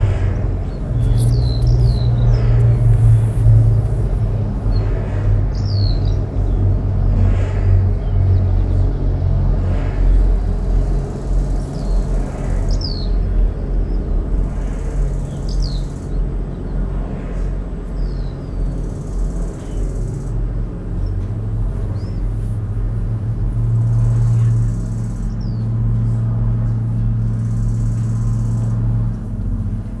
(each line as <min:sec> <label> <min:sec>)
0:00.0 birds 0:22.4
0:00.0 low frequency metallic sound like a drone 0:30.0